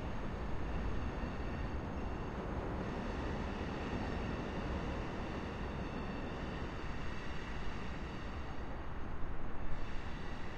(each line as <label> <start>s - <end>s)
slow train 0.0s - 10.5s